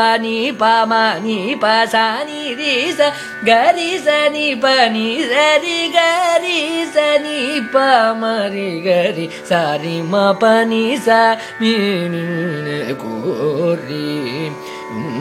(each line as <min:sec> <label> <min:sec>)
0:00.0 Carnatic varnam 0:15.2